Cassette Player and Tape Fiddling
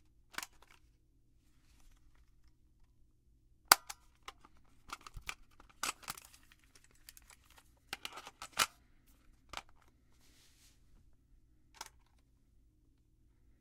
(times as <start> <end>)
3.7 8.8